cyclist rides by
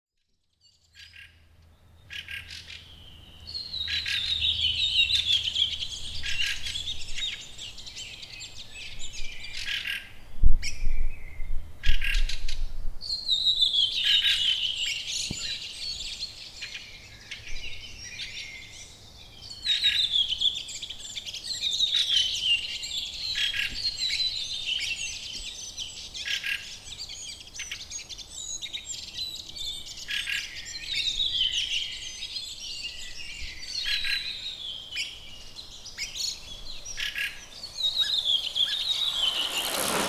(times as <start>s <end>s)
2.4s 9.8s, 34.2s 40.0s